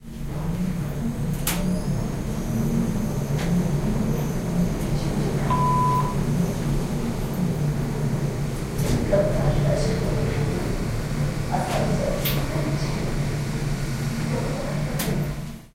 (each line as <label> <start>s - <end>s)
elevator 1.3s - 15.4s